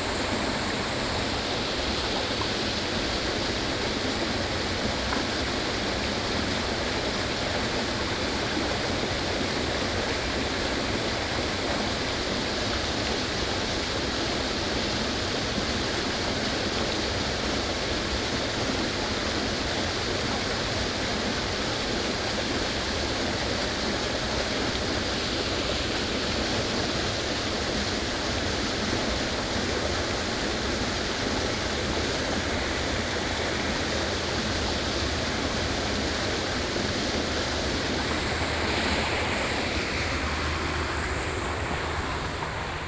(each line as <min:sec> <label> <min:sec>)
0:00.0 Stream 0:42.8